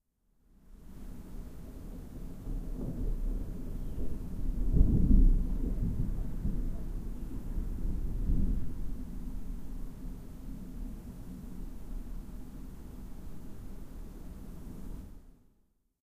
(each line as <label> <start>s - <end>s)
rain 0.7s - 15.2s
thunder 1.9s - 10.9s